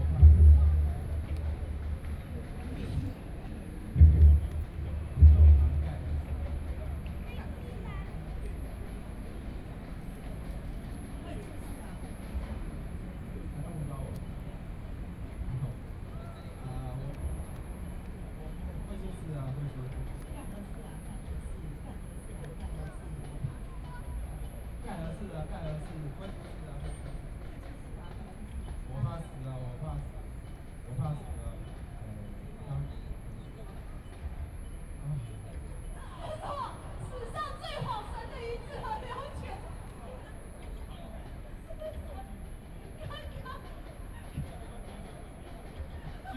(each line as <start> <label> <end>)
0.0 Distant drums 13.2